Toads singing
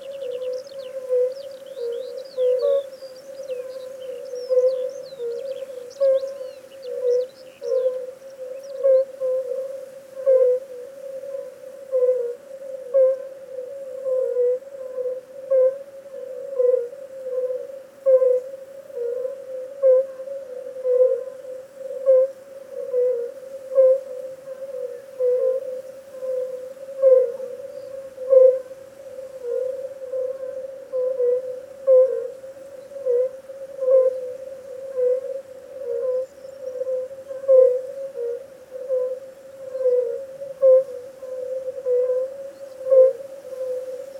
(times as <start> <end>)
0.0 10.9